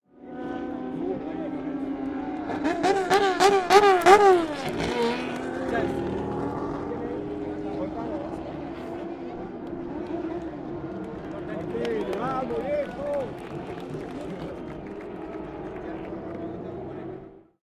0.1s crowd 17.6s
0.2s revving 17.4s

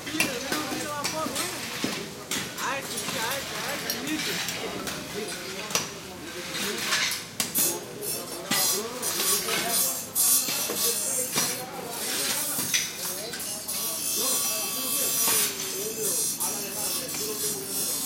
0.0s bandsaw cutting stuff 18.0s
0.0s chatter 18.0s
0.0s light, offmic traffic 18.0s

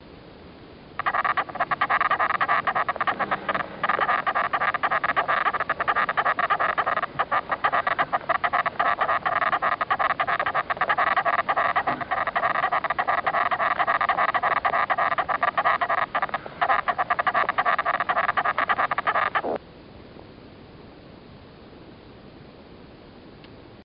1.0s sound emitted by a single major worker ant 19.6s

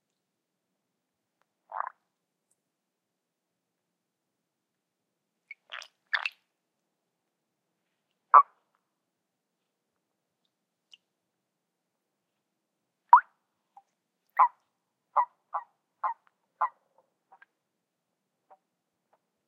1.6s quiet frog 2.1s
1.7s toads 2.0s
5.5s quiet frog 6.4s
8.3s quiet frog 8.7s
8.4s toads 8.6s
13.1s quiet frog 17.6s
14.4s toads 14.6s
15.2s toads 17.5s

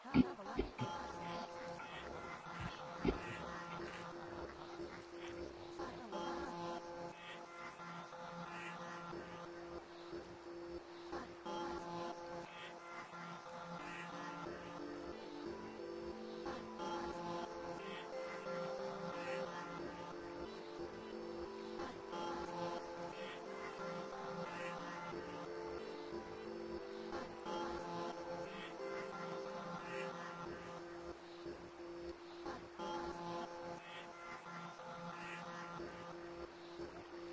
0.0s pads 37.3s

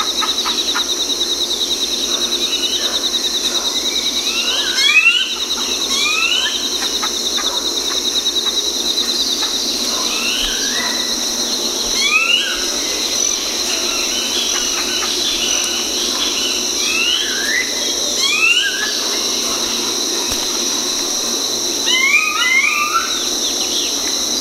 0.0s birdsong 24.4s

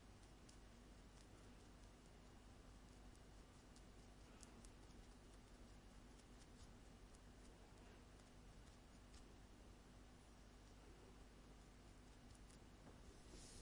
11.6s Rubbing my eyelash like mascara wand 13.6s

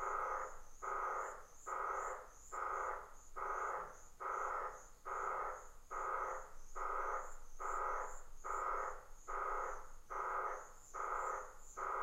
0.0s Frogs 12.0s

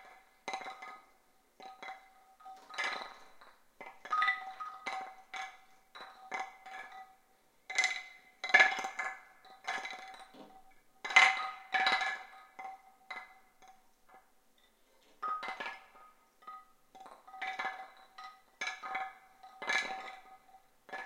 0.0s home made woodblock mobile 21.0s

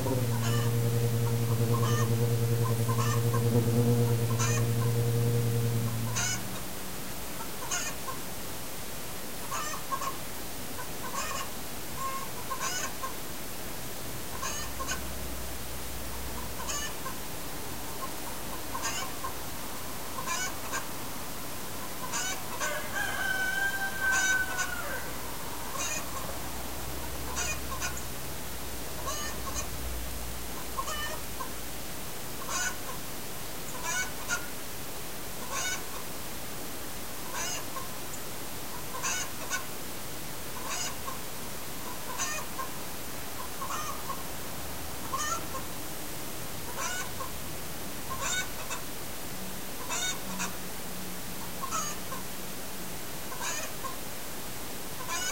0.0s hens and roosters 6.6s
11.0s hens and roosters 13.2s
14.3s hens and roosters 15.2s
16.2s hens and roosters 17.2s
21.8s hens and roosters 28.2s
28.9s hens and roosters 29.8s
32.4s hens and roosters 32.8s
33.7s hens and roosters 34.5s
37.3s hens and roosters 37.9s
38.9s hens and roosters 39.6s
40.6s hens and roosters 41.2s
43.4s hens and roosters 44.2s
45.0s hens and roosters 45.7s
49.8s hens and roosters 50.6s
51.4s hens and roosters 52.3s
53.3s hens and roosters 54.0s
55.0s hens and roosters 55.3s

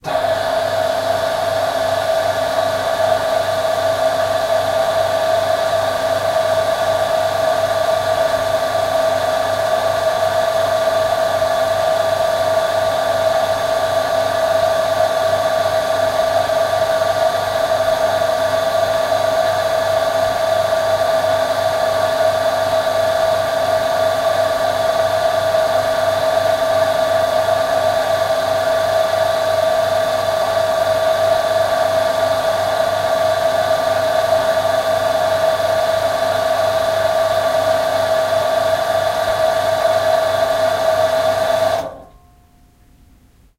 0.0s water pump 42.2s

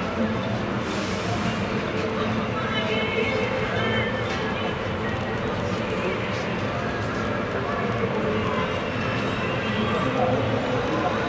0.0s traffic 11.2s

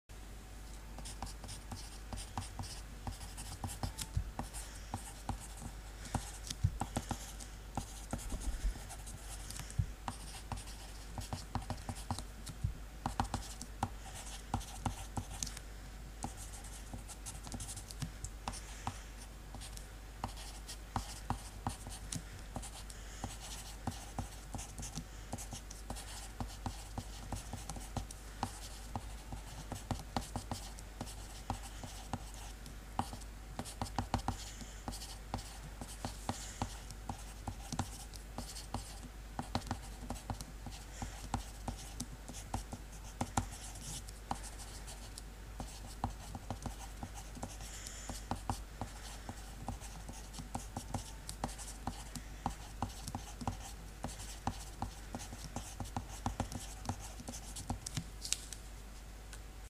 1.0s pencil writing on paper 12.3s
13.0s pencil writing on paper 15.5s
16.2s pencil writing on paper 58.0s

